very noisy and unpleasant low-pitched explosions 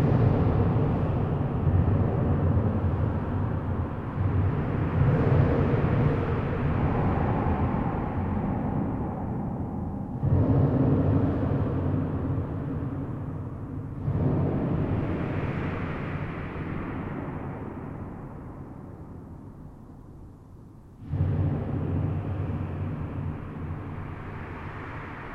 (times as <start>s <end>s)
21.1s 24.2s